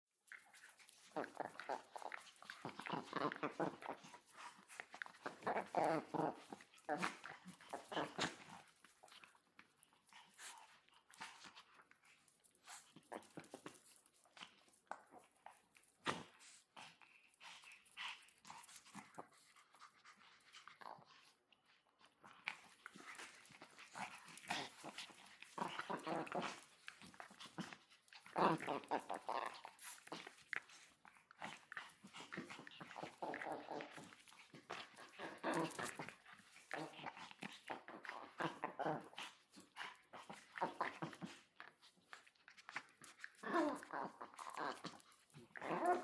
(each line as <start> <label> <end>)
0.2 Chihuahua playing and barking 46.0